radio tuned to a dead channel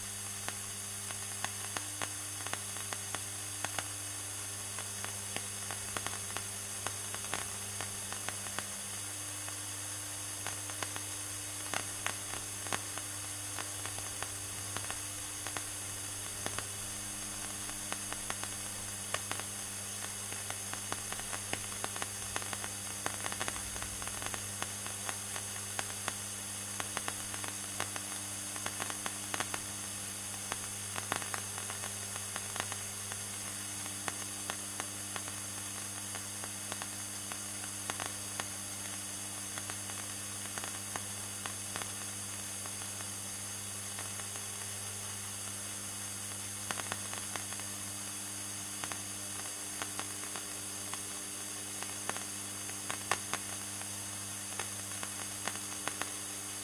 0.0s 44.7s

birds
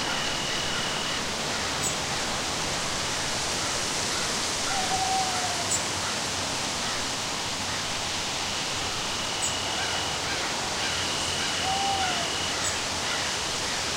8.9s 13.9s

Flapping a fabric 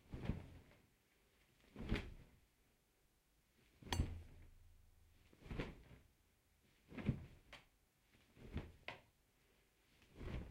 0.0s 2.4s, 5.1s 10.5s

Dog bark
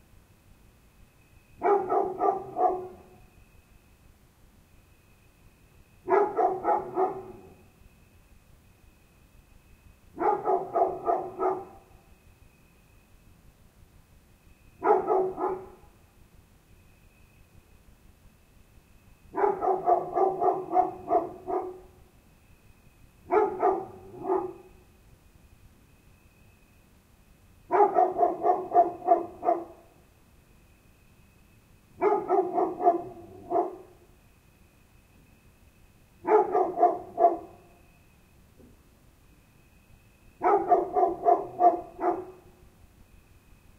1.6s 3.2s, 6.0s 7.6s, 10.2s 11.9s, 14.8s 15.9s, 19.3s 22.0s, 23.3s 24.8s, 27.7s 29.9s, 32.0s 34.0s, 36.2s 37.6s, 40.4s 42.5s

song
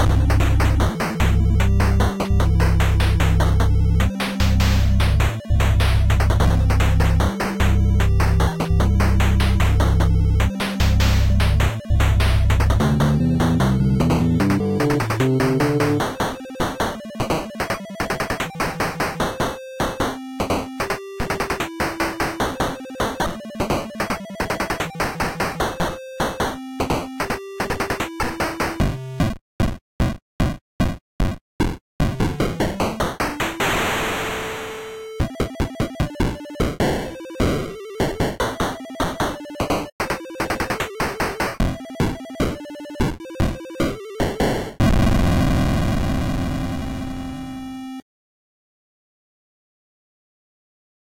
0.0s 16.5s

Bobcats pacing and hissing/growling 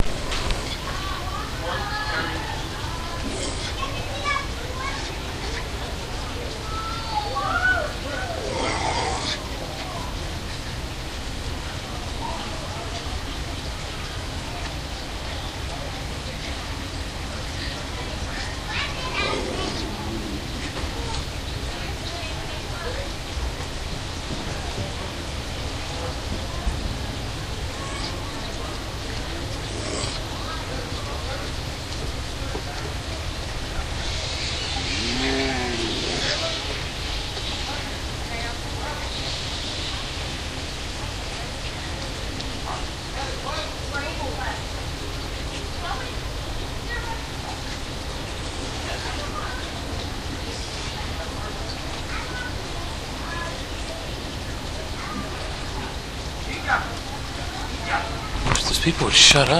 18.7s 21.9s

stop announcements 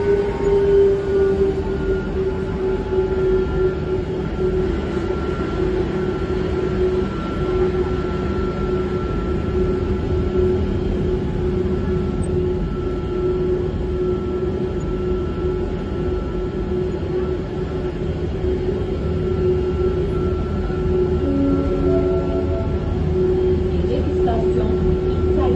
21.2s 25.5s

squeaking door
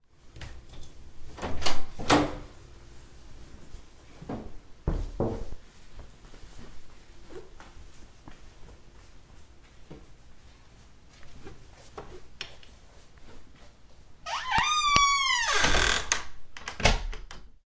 14.2s 16.3s

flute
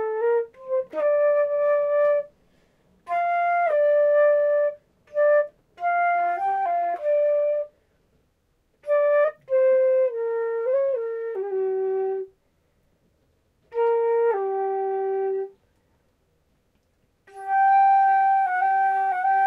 0.0s 2.4s, 3.0s 7.8s, 8.8s 12.3s, 13.6s 15.6s, 17.3s 19.4s

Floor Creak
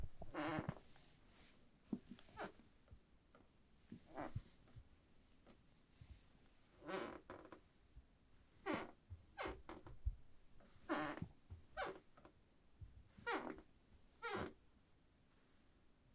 0.2s 0.8s, 4.1s 4.5s, 6.8s 7.6s, 8.6s 9.9s, 10.8s 12.3s, 13.2s 14.6s

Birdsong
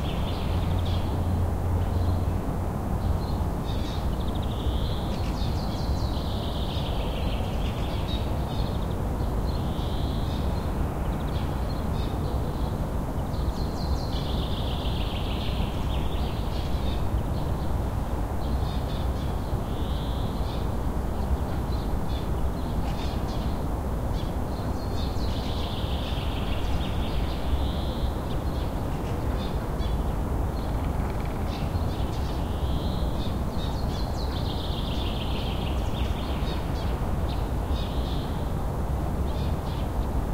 18.4s 38.6s

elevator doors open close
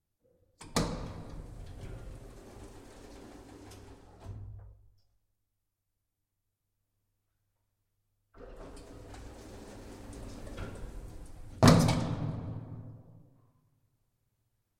0.7s 4.6s, 8.4s 12.6s

